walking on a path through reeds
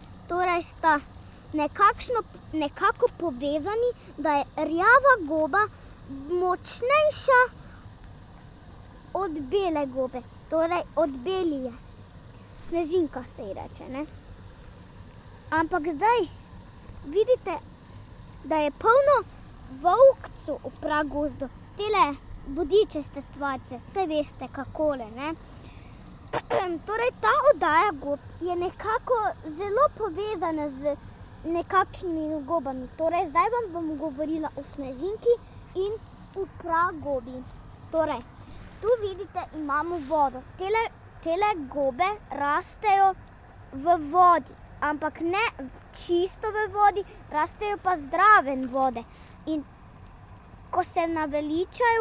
37.4 40.1

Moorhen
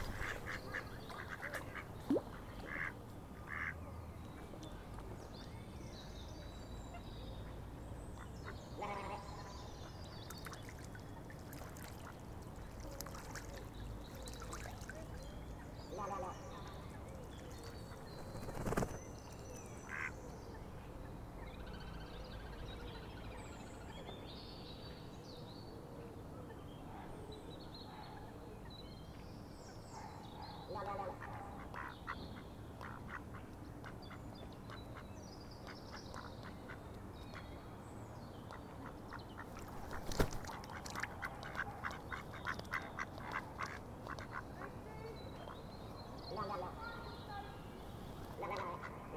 0.0 3.8, 6.8 20.7, 38.3 49.1

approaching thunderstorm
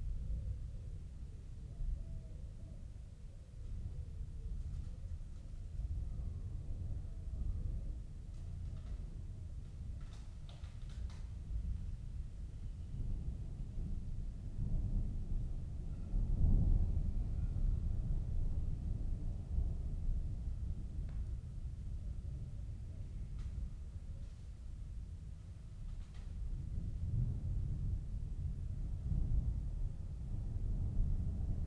26.3 31.6

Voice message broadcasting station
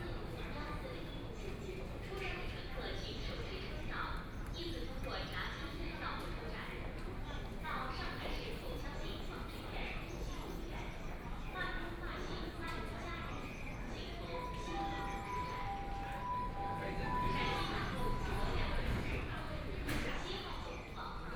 14.2 19.0

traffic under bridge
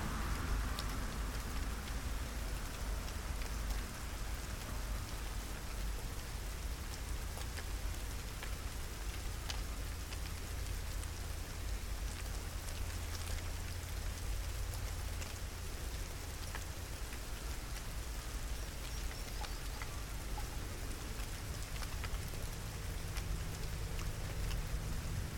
0.0 6.9, 19.3 25.3

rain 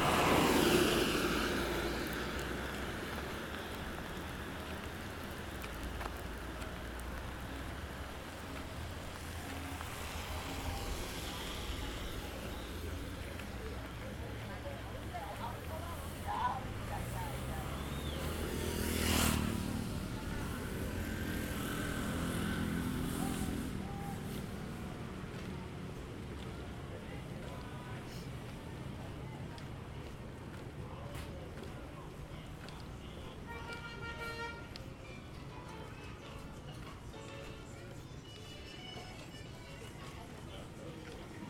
0.0 27.4

